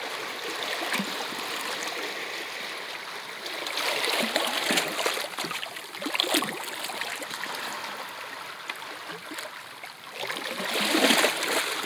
Waves on rocks 0.0 - 11.8

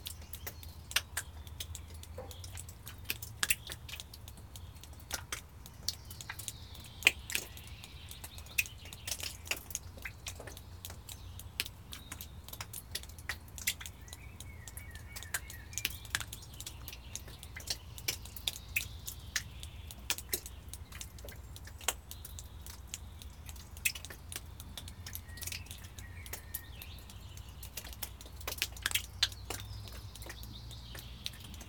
water drips from the roof 0.0 - 31.6

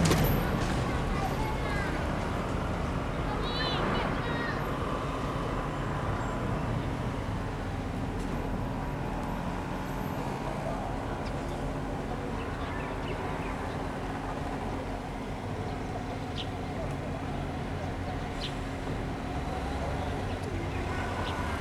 Construction noise 0.0 - 21.6

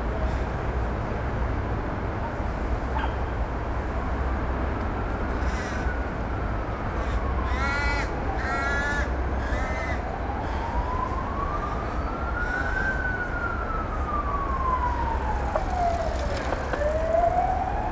drone of the city 0.0 - 17.9
Birds Crowing and Cawing 15.1 - 17.8

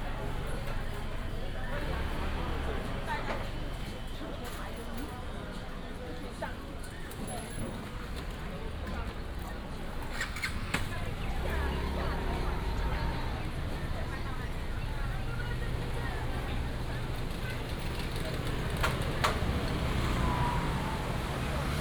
traffic sound 0.0 - 5.3
Walking in the night market 0.0 - 21.8
traffic sound 7.1 - 21.8

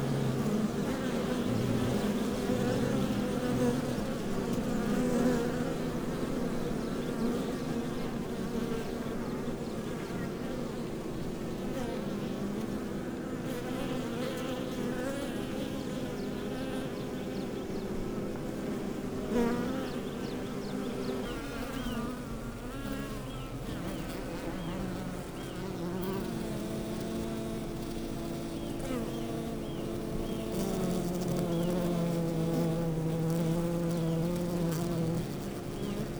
undisturbed bees 0.0 - 36.1

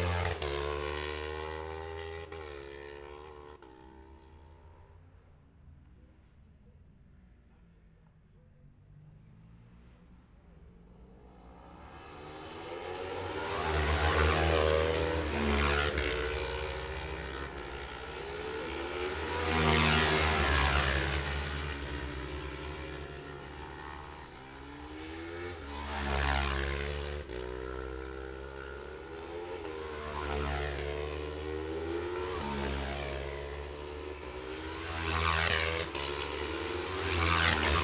road racing 0.0 - 37.8

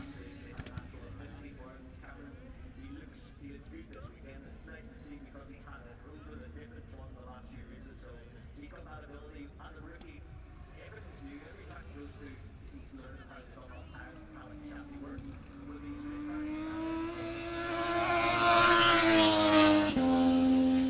moto two free practice three 9.9 - 20.8

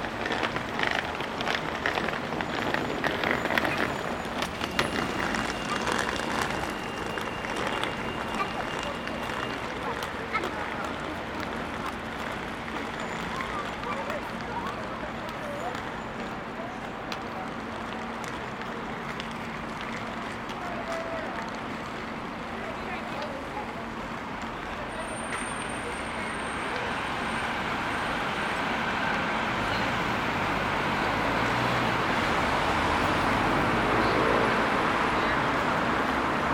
suitcase traveller 0.0 - 14.8
vehicles passing 0.0 - 36.5
emergency vehicle distant siren 2.5 - 10.8
groups chatting 4.7 - 19.1

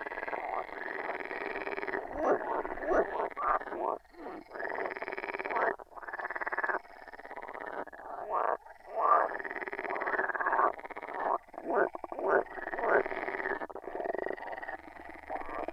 frogs chorus 0.0 - 15.7

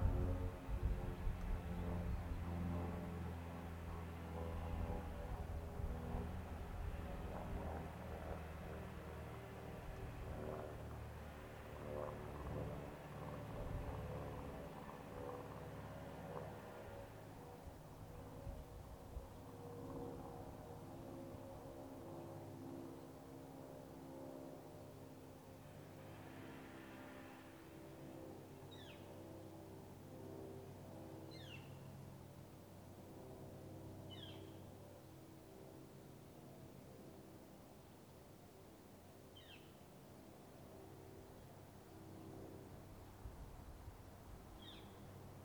automobiles 0.0 - 37.5
Planes 0.0 - 45.4
Birds 28.7 - 29.2
Birds 31.2 - 32.0
Birds 34.0 - 35.1
Birds 39.3 - 39.8
Birds 44.6 - 45.2

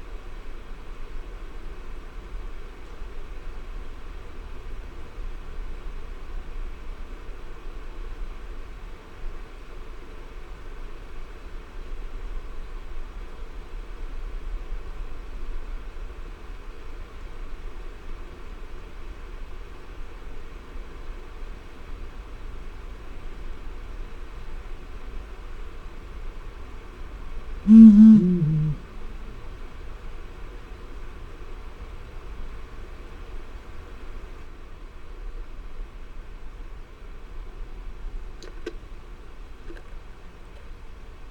Blakiston's fish owl 27.7 - 28.9

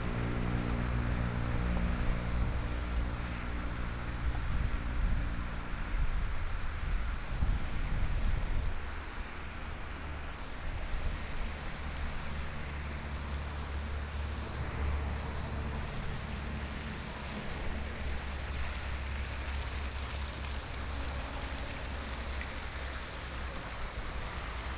Traffic Sound 0.0 - 6.0
Traffic Sound 11.1 - 24.7

